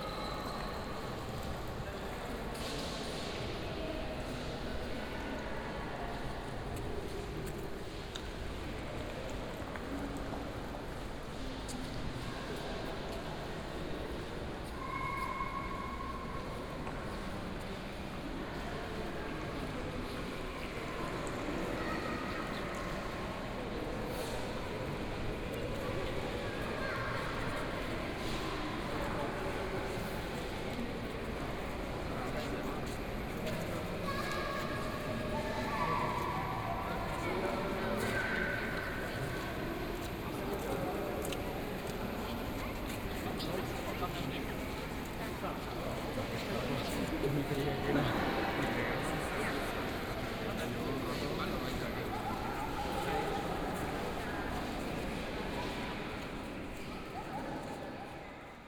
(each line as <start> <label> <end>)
0.0 visitors looking at and discussing an art installation 58.6